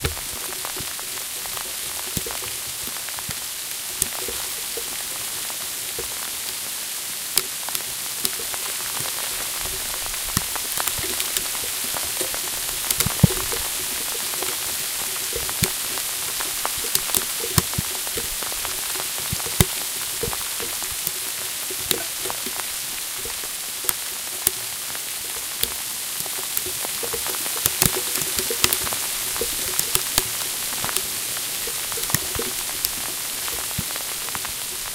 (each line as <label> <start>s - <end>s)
Hail on a path 0.0s - 34.9s